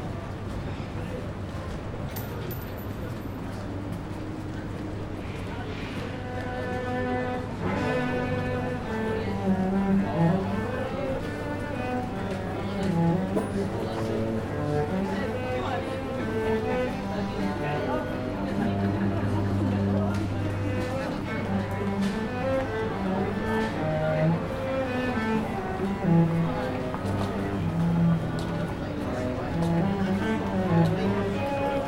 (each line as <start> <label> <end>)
6.0 viola player 31.8